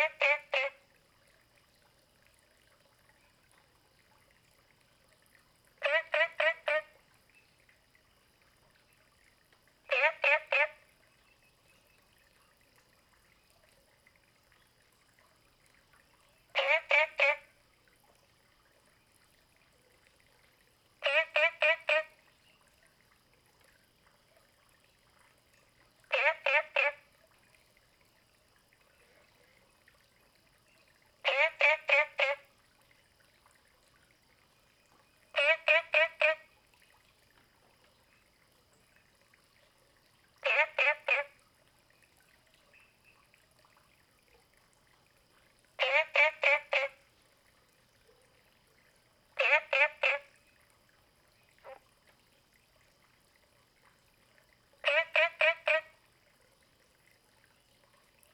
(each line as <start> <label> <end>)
0.0 Frogs chirping 0.8
5.8 Frogs chirping 9.2
9.9 Frogs chirping 12.2
16.3 Frogs chirping 17.5
21.0 Frogs chirping 22.7
26.1 Frogs chirping 27.1
30.4 Frogs chirping 32.6
34.1 Frogs chirping 36.6
40.4 Frogs chirping 41.4
45.8 Frogs chirping 47.2
49.1 Frogs chirping 51.9
54.8 Frogs chirping 56.0